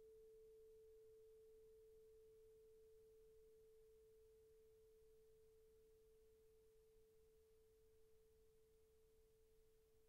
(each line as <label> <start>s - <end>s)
tuning fork with resonance box 0.0s - 10.0s